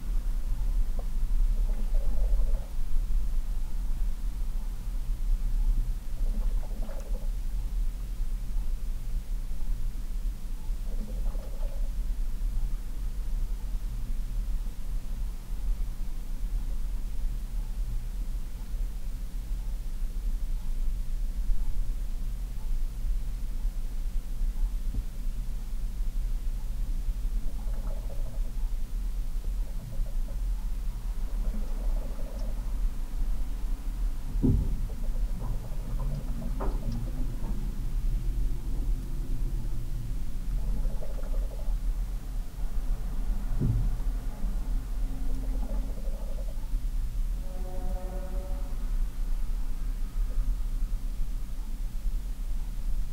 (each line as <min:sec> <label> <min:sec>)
0:00.0 hum 0:53.1
0:00.1 weird liquid sounds from inside a refrigerator 0:08.3
0:10.7 weird liquid sounds from inside a refrigerator 0:14.7
0:26.8 weird liquid sounds from inside a refrigerator 0:48.8